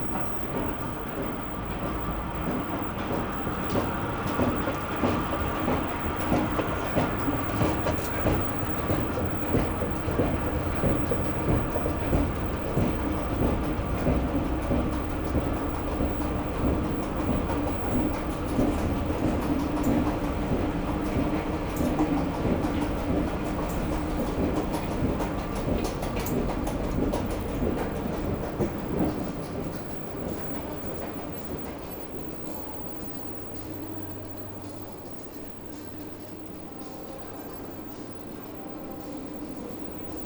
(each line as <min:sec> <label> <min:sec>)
0:00.0 Tramways make harsh sounds 0:40.2